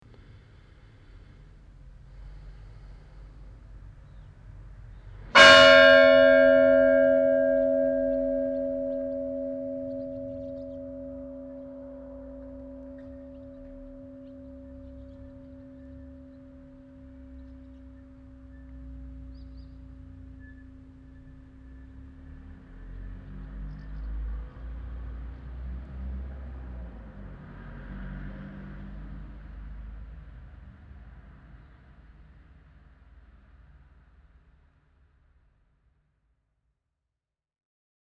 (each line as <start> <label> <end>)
5.4 one o clock bell 19.3